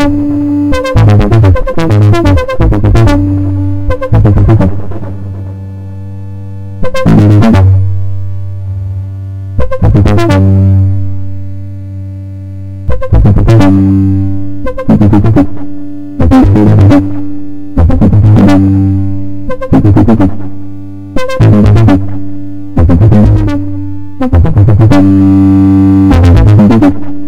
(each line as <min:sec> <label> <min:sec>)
0:00.0 suboctave bass 0:27.2